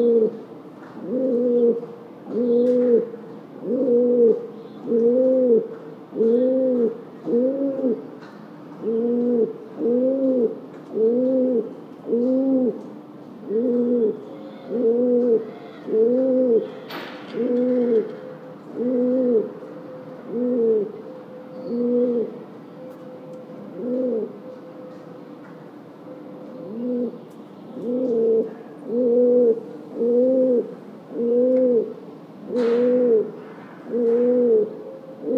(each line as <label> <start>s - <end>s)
cooing pigeon 0.0s - 0.4s
cooing pigeon 1.0s - 8.0s
cooing pigeon 8.8s - 12.8s
cooing pigeon 13.4s - 19.6s
cooing pigeon 20.2s - 21.0s
cooing pigeon 21.6s - 22.4s
cooing pigeon 23.7s - 25.0s
cooing pigeon 26.6s - 27.2s
cooing pigeon 27.8s - 35.3s